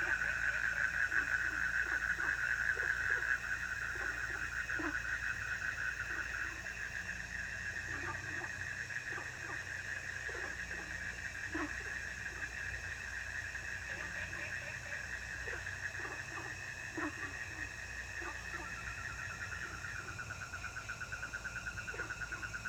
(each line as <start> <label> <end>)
0.0 Frogs chirping 22.6
0.0 insects 22.6